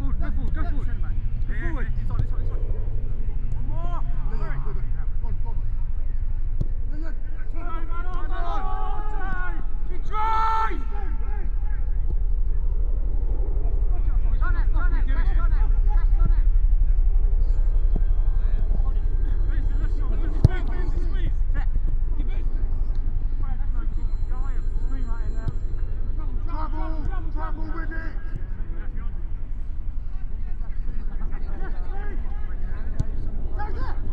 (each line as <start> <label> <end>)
0.0 inter-club friendly match 34.1